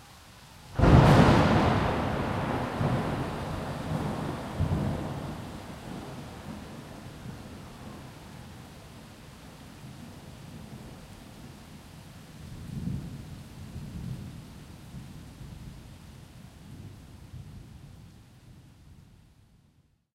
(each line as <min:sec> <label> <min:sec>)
0:00.0 Rain on street, plants, exterior home 0:20.1
0:00.8 lightning crack 0:06.8